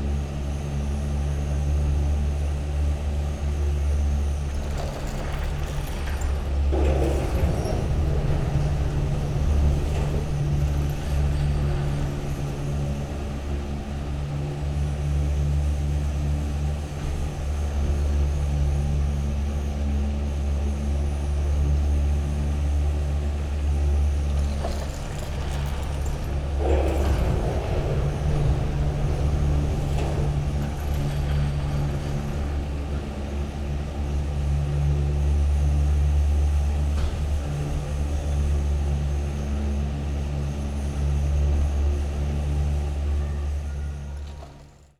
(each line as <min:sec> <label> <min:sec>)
0:00.0 ropeway ground station 0:44.9
0:00.0 arriving cabins 0:44.9